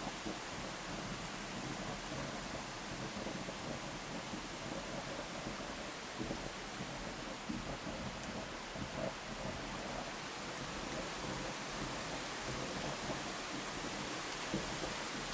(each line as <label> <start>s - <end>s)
very hard rain 0.0s - 15.3s